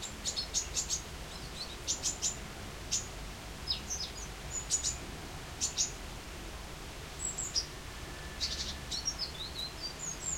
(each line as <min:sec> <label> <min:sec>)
0:00.7 rain 0:10.3